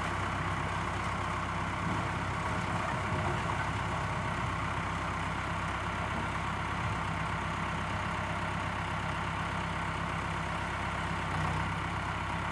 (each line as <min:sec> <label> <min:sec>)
0:00.0 tractor arriving 0:12.5